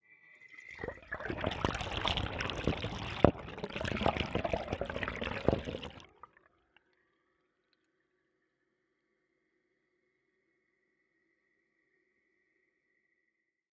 0.5s toilet water being flushed 6.4s

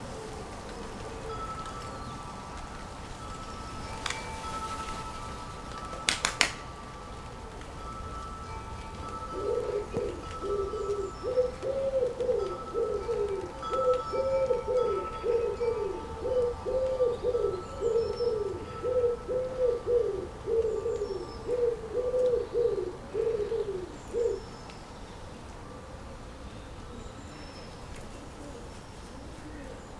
0.0s Woodpigeon 7.8s
0.0s Rain 9.1s
0.0s Feral pigeon 29.9s
0.0s wind 29.9s
0.0s Wind chimes 21.5s
6.0s Wing clap 6.7s
8.9s Woodpigeon 24.6s

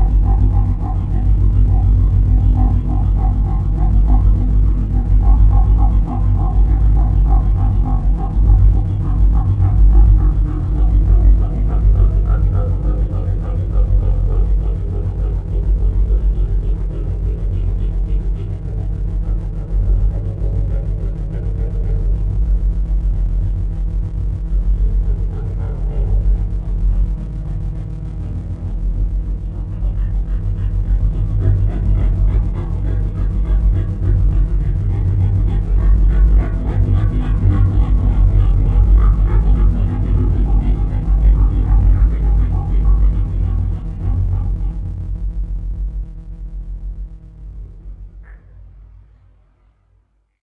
0.0s Granular drone 50.0s

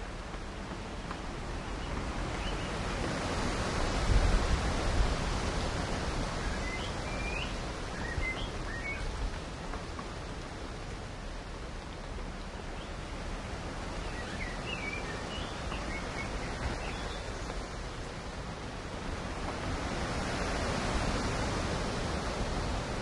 0.0s Rain in the Forest 23.0s
0.0s wind 23.0s
0.6s birdsong 3.0s
6.2s birdsong 9.4s
12.3s birdsong 17.9s

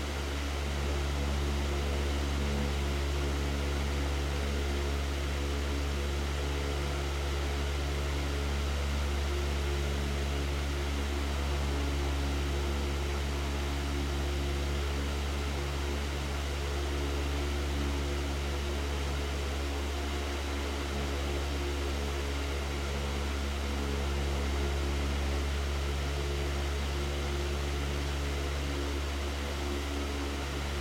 0.0s air fan 30.8s

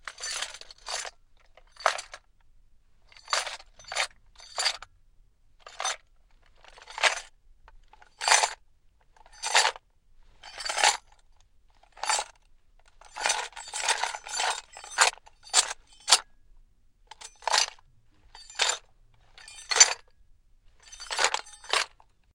10.4s Shuffling gear or armor 11.0s
13.0s Shuffling gear or armor 16.3s
17.1s Shuffling gear or armor 20.1s
20.8s Shuffling gear or armor 22.0s

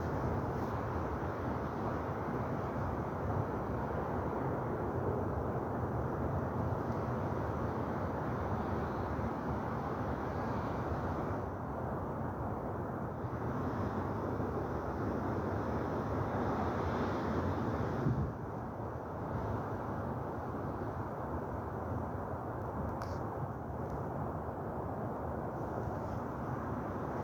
14.0s light wind in the wires 27.2s

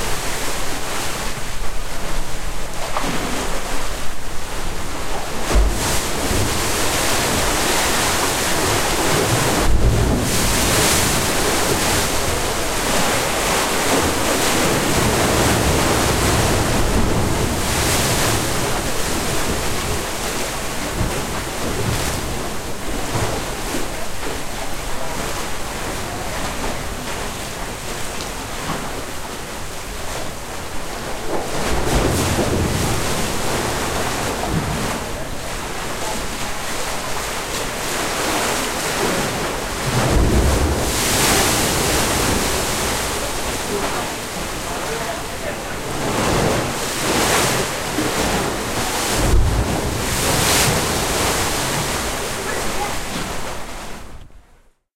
4.6s Water may spout as high as 40 feet with a thunderous roar 28.5s
5.5s thunder of the sea against the rocky shores 23.5s
29.9s Water may spout as high as 40 feet with a thunderous roar 54.1s
31.5s thunder of the sea against the rocky shores 35.4s
38.2s thunder of the sea against the rocky shores 53.4s

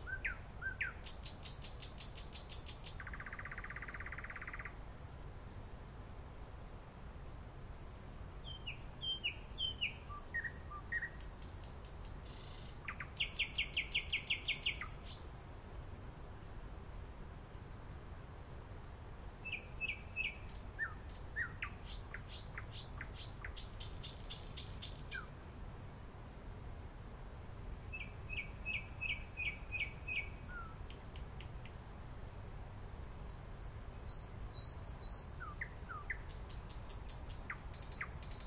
18.5s Nightingale 25.4s
33.4s Nightingale 38.4s

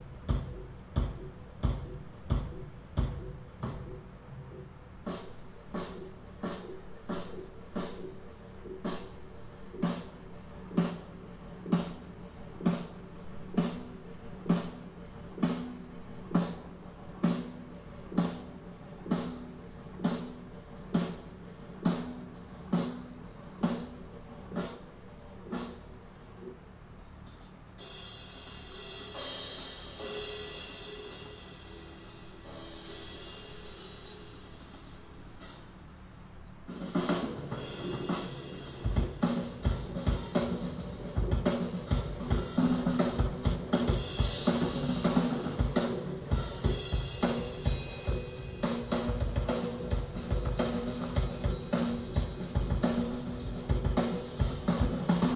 0.0s generators that were used for the lighting 55.3s
36.6s band tuning up 55.3s

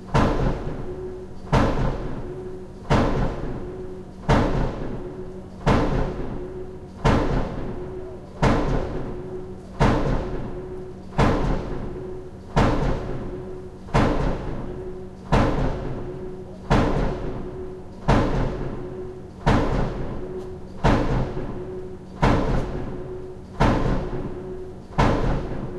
0.0s Construction work 25.7s

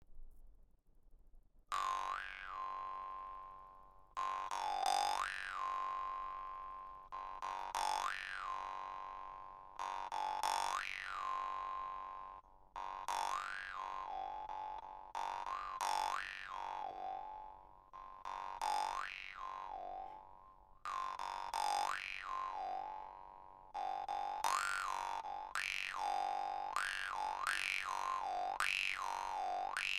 1.7s Vargan solo 29.9s

